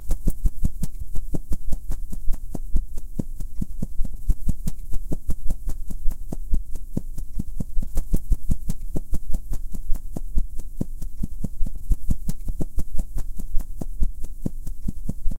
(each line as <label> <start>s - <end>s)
wing flaps 0.0s - 15.3s